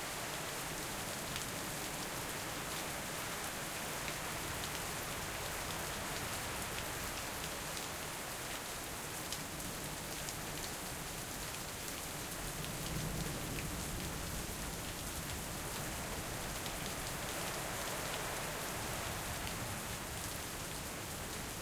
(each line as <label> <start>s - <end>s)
rain 0.0s - 21.6s